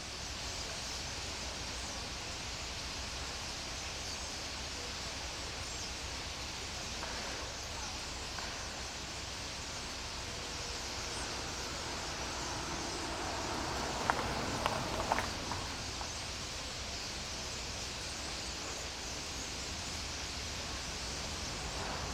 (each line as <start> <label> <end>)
0.0 Birds 22.1